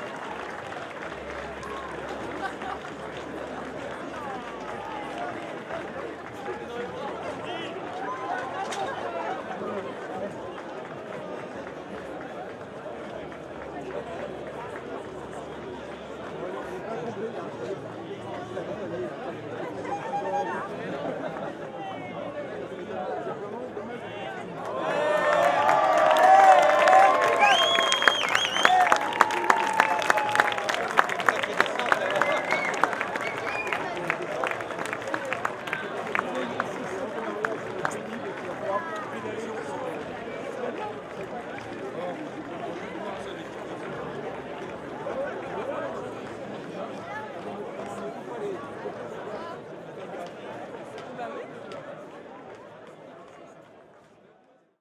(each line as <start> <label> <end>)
19.6 applaudissements 21.9